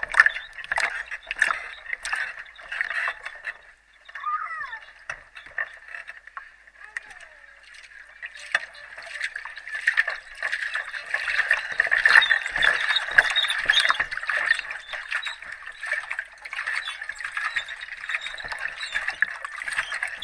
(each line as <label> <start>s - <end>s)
squeaks 0.0s - 6.0s
squeaks 8.1s - 20.2s